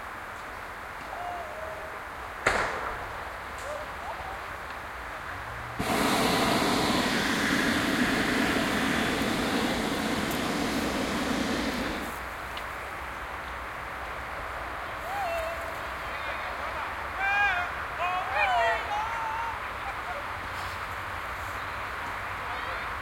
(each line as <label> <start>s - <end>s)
burner 5.8s - 12.3s